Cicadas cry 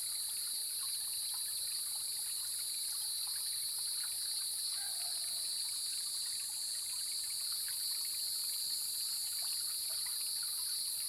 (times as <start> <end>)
4.7 6.0